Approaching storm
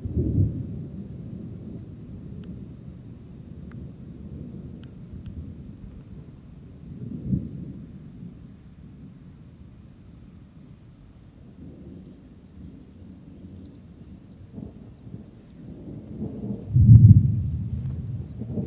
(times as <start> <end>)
16.5 18.6